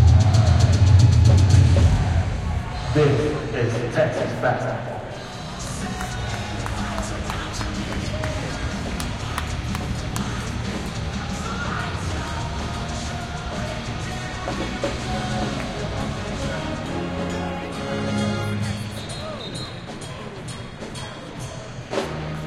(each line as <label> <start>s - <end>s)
band 0.0s - 22.4s
Student basketball games 5.0s - 22.4s